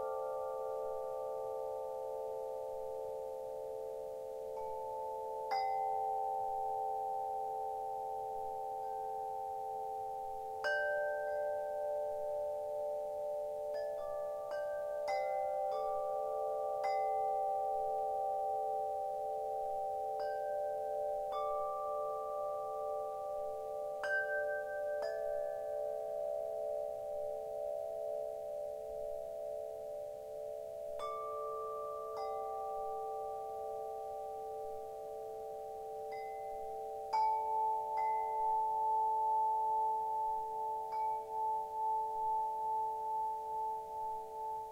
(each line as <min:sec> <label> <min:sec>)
0:00.0 wind chimes 0:44.7